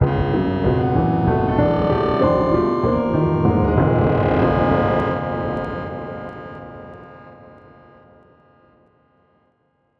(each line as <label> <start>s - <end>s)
Distorted Piano 0.0s - 6.8s